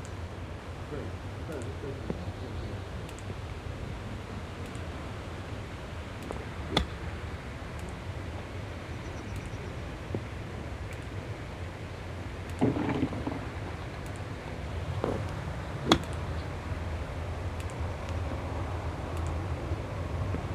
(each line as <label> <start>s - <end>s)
Wind movements 0.0s - 20.5s